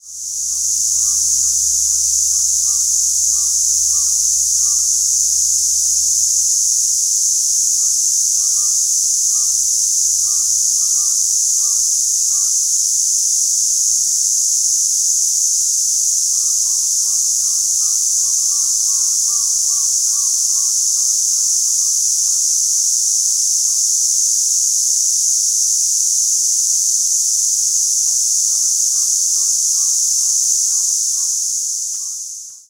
0.0s buzzing of cicadas 32.6s

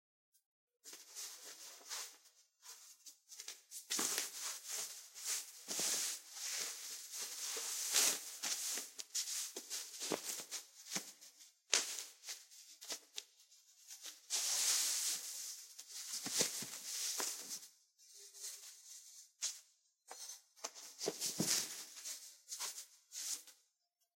0.8s Dressing a cotton pullover 23.6s

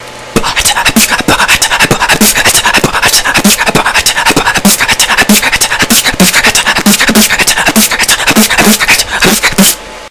0.4s beatbox 9.9s

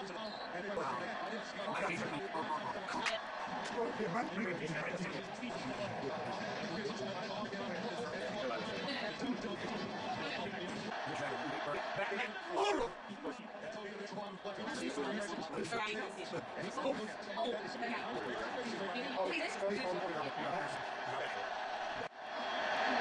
0.0s Game On TV 23.0s
0.0s rowdy American football fans 23.0s

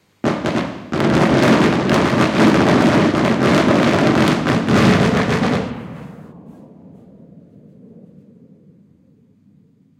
0.0s rapid sequence of explosions from fireworks 7.2s

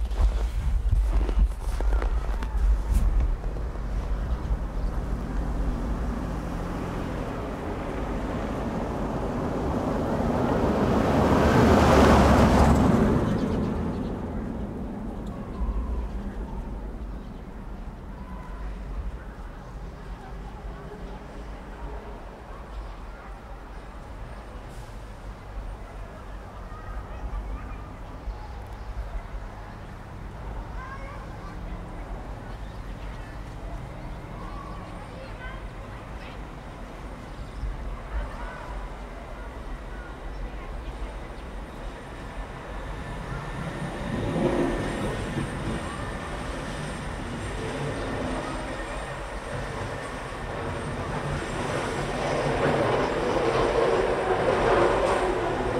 0.0s trucks 55.7s
0.9s children 10.8s
1.3s cars 55.7s
12.4s children 55.7s

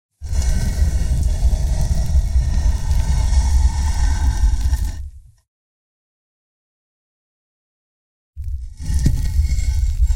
0.2s gravestone slab being dragged 5.2s
8.6s gravestone slab being dragged 10.1s

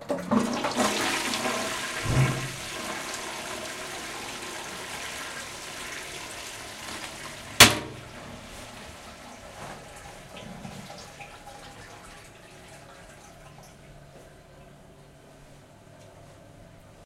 0.0s flushing the toilet 14.2s
2.0s banging the toilet lid 2.8s
7.6s banging the toilet lid 8.2s

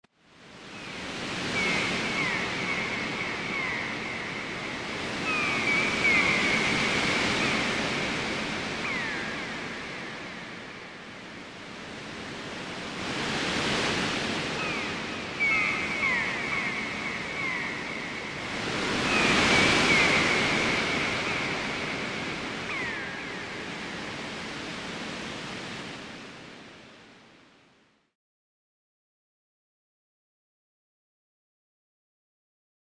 0.2s Waves 28.1s
1.5s Seagulls 4.5s
5.2s Seagulls 7.7s
8.8s Seagulls 10.0s
14.6s Seagulls 21.9s
22.7s Seagulls 23.9s

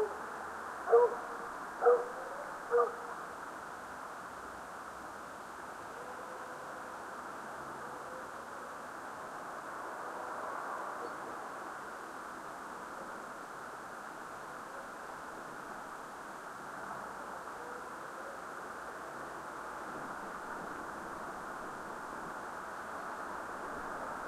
0.9s hound that you hear was separated from the pack 1.2s
1.8s hound that you hear was separated from the pack 3.0s

